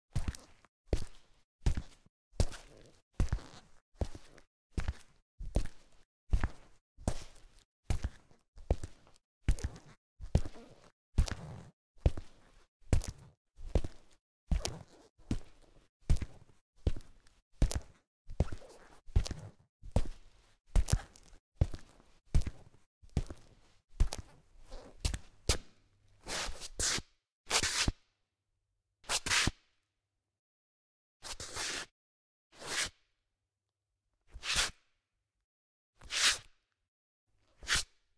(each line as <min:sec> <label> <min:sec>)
0:20.8 footsteps concrete 0:25.7